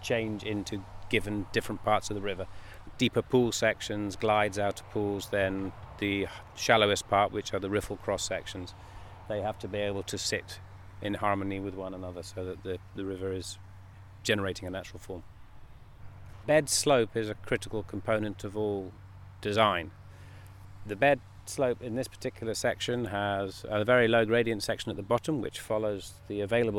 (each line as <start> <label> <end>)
0.0 Field interview with ecohydrologist 26.7